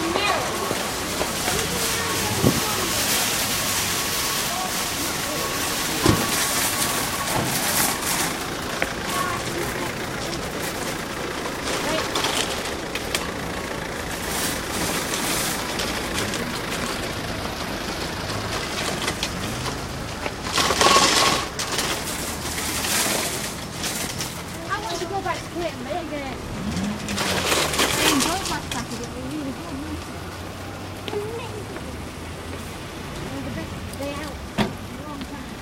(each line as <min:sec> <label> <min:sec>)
0:00.0 cars driving past 0:35.6
0:00.0 trolleys being wheeled over cobbled paths 0:35.6